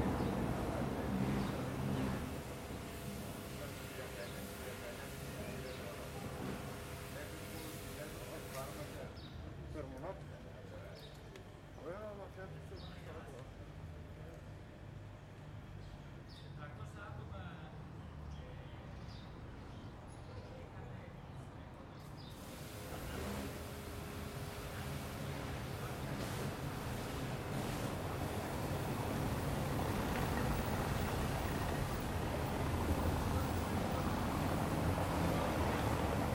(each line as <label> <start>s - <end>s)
Mild traffic 0.0s - 36.3s
people passing by, talking 0.0s - 36.3s